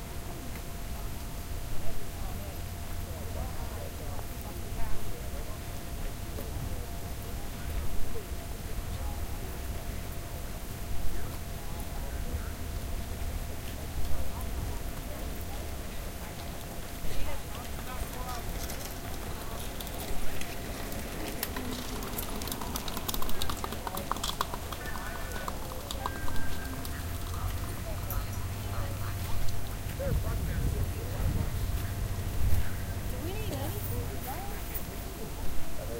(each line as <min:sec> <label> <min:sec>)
0:14.2 crowds 0:35.9